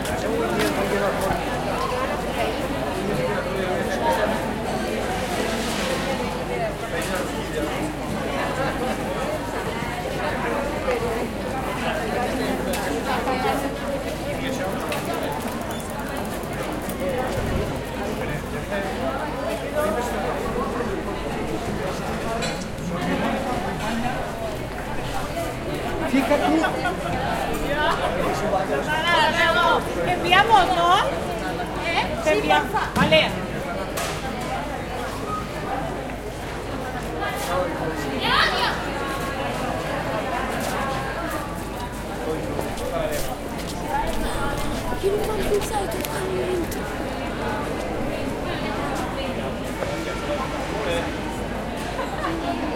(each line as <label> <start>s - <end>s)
people who walk and talk around 0.0s - 52.7s
children 43.0s - 52.7s